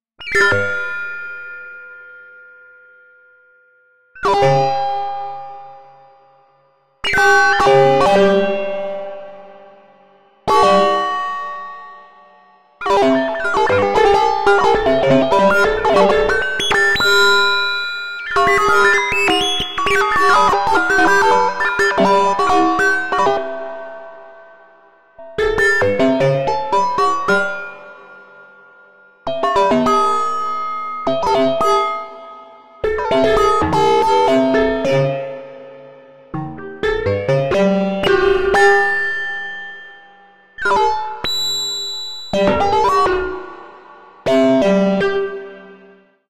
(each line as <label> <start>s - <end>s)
keyboard 4.1s - 46.2s